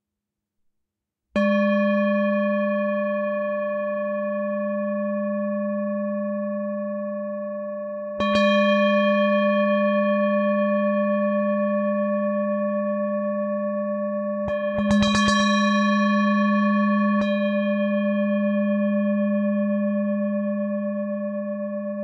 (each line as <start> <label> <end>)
1.4 Himalayan Singing Bowl 22.0